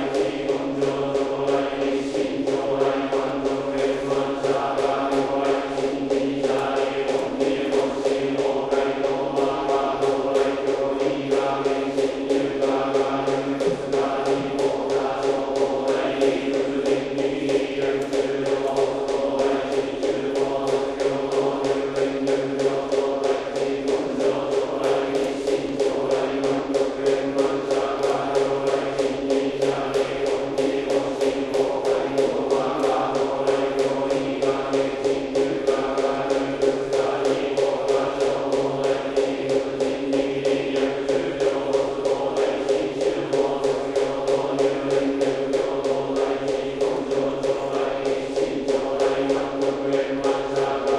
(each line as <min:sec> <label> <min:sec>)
0:00.0 mokugyo strokes on each syllabe 0:50.9
0:00.0 monks sing together in a rhythmic way 0:50.9